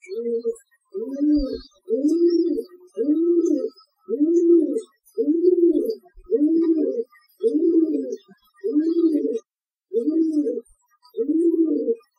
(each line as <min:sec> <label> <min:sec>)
0:00.0 pigeon cooing 0:12.1